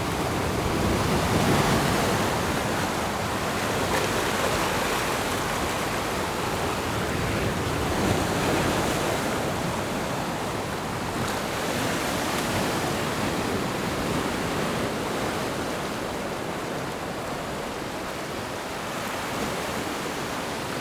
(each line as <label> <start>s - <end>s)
waves 0.0s - 20.8s